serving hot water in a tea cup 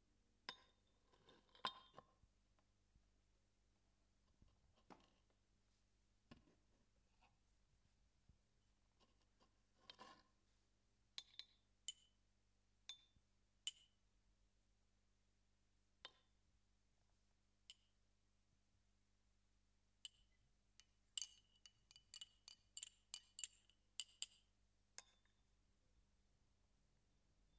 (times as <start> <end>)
20.0 24.3